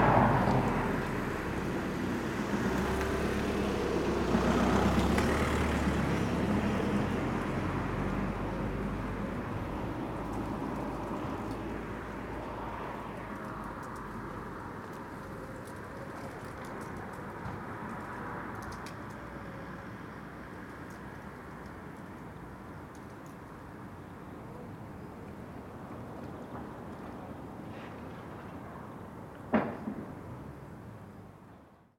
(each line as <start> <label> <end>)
0.0 cold wind 31.9